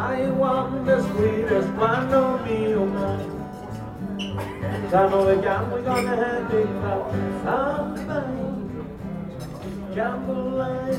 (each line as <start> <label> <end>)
0.0 solo entertainment 10.9